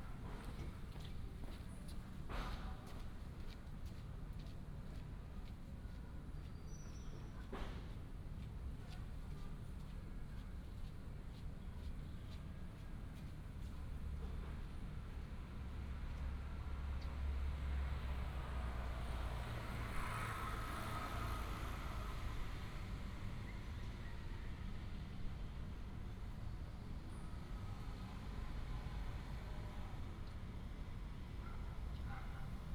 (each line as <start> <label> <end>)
13.4 Traffic sound 32.7
31.4 Dog 32.6